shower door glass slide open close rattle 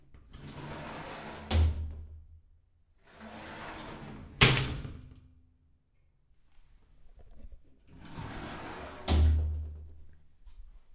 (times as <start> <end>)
8.0 9.4